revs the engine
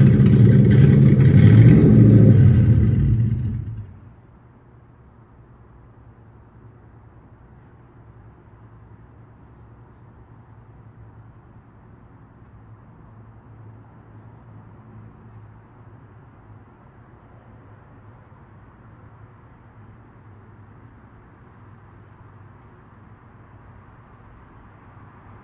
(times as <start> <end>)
0.0 4.2